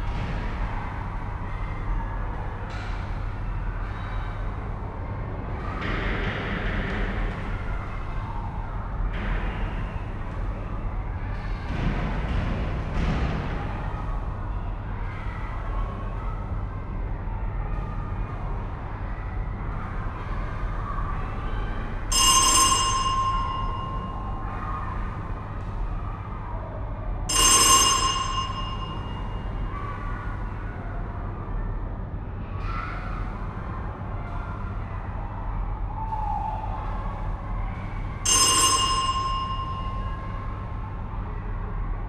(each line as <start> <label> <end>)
0.0 soft humming of the ventilation 42.0
22.1 ringing of the gym's door bell 25.4
27.3 ringing of the gym's door bell 29.8
38.3 ringing of the gym's door bell 40.6